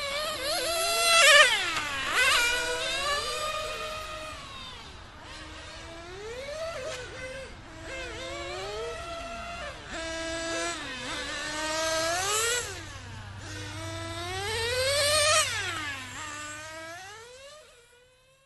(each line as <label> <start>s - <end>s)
Radio Controlled Racing Cars 0.0s - 18.4s